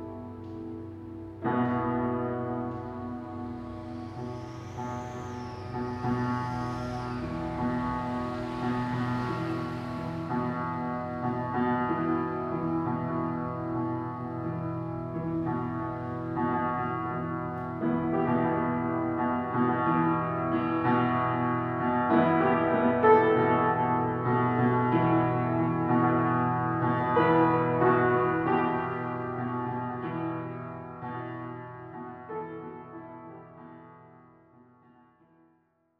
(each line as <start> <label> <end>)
0.0 broken piano 34.2
2.6 cars 18.5